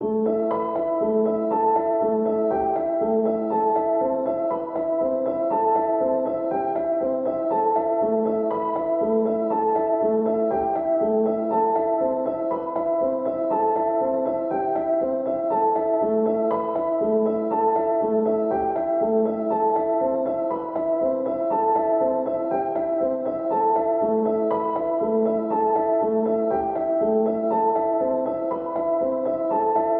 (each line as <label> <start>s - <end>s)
piano 0.0s - 29.9s